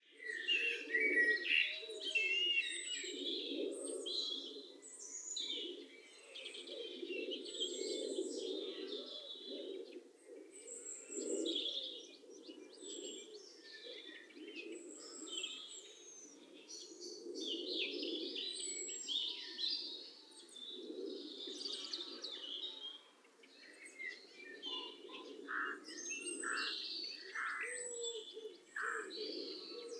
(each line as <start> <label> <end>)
0.0 birds 29.9